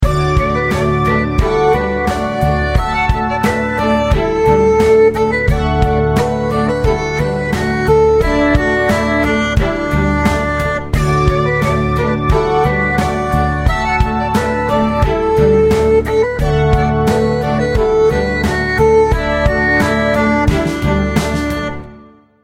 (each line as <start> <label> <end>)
0.0 drums 22.0
0.0 erhu 22.2